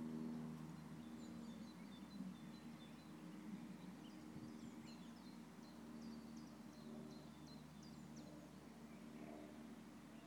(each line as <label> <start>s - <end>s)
distant plane 0.0s - 10.2s
birds chirping 0.6s - 10.2s